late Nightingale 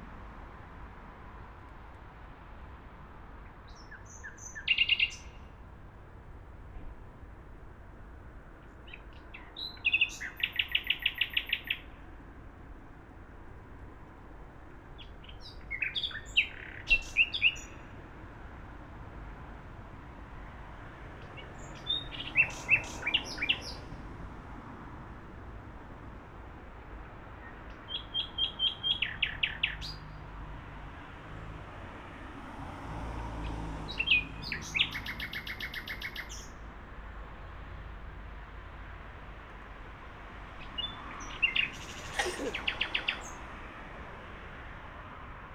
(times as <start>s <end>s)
3.7s 5.4s, 8.9s 11.9s, 15.0s 17.8s, 21.3s 23.9s, 27.5s 30.2s, 33.9s 36.5s, 40.6s 43.5s